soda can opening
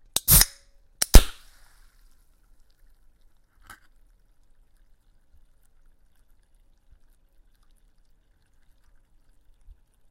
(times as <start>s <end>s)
0.1s 1.5s